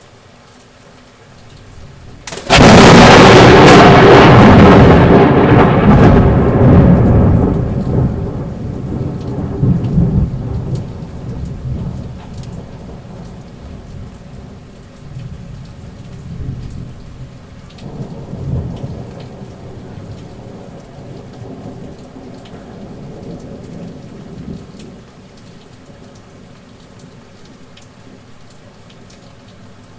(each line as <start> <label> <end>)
0.0 rain 29.9
2.2 thunder 14.2
17.8 thunder 21.9